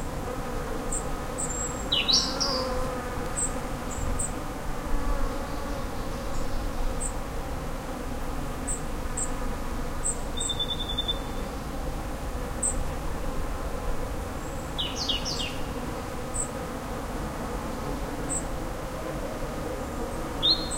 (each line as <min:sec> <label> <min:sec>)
0:00.0 buzzing bees 0:10.4
0:00.9 birds 0:04.4
0:10.0 birds 0:11.6
0:11.4 buzzing bees 0:20.7
0:14.4 birds 0:16.6
0:20.1 birds 0:20.7